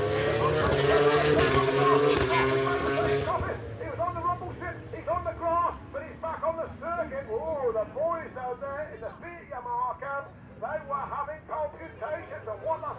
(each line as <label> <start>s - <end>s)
motogp race 0.0s - 10.0s